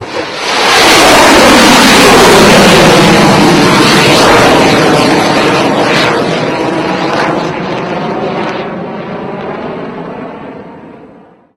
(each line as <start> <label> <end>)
0.0 explosion 5.4
0.0 Tomahawk Missile Rocket Launch 8.5